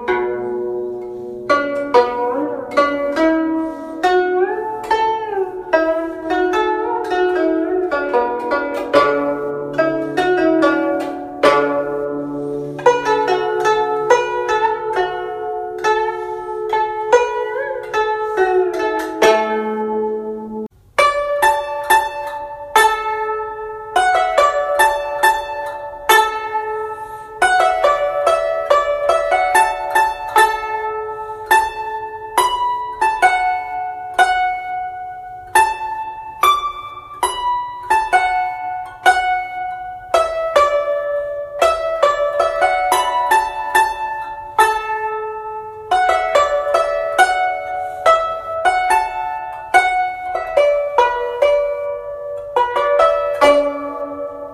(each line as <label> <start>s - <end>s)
Zheng 0.0s - 54.5s